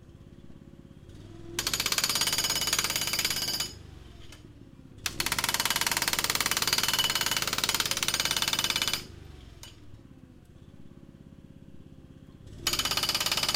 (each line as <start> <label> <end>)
0.0 four stroke petrol (gasoline) engine 6.6
1.6 hydraulic jackhammer 4.4
5.0 hydraulic jackhammer 9.7
7.4 four stroke petrol (gasoline) engine 13.5
12.6 hydraulic jackhammer 13.5